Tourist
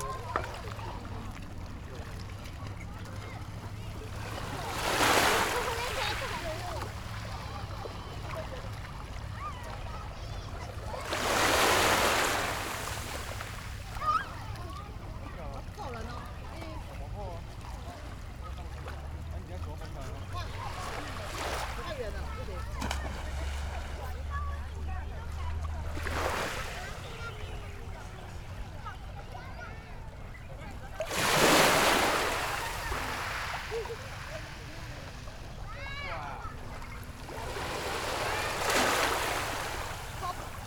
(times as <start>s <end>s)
30.1s 40.6s